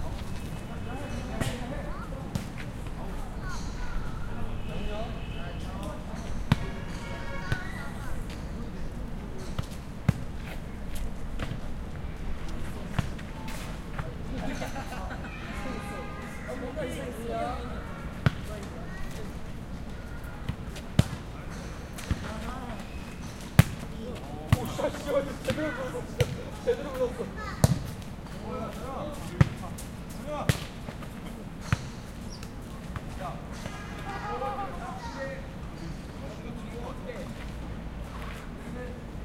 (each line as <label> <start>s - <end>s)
People playing football 0.0s - 5.0s
People playing football 5.7s - 35.5s